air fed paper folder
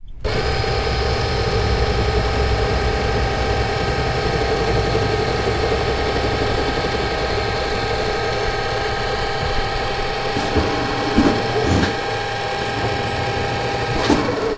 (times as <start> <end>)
6.2 14.4